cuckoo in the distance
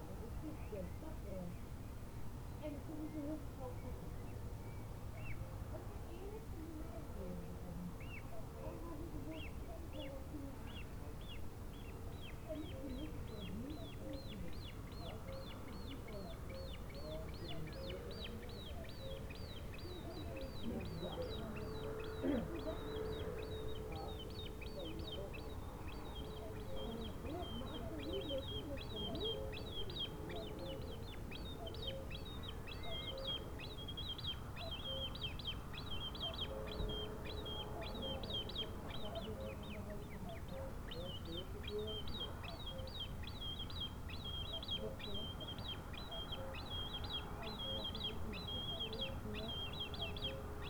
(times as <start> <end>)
12.1 50.6